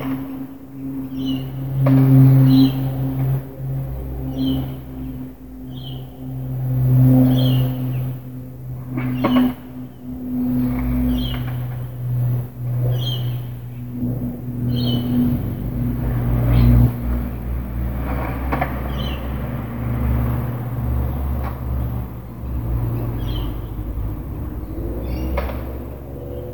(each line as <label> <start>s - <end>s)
cars passing 0.0s - 26.5s
plane 0.0s - 26.5s
Skateboarders 9.0s - 9.8s
Skateboarders 15.8s - 23.2s